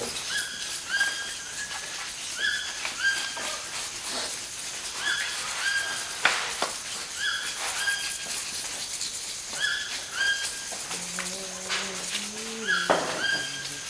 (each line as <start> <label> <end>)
10.6 scraping of Banisteriopsis caapi 13.8
10.9 songs 13.8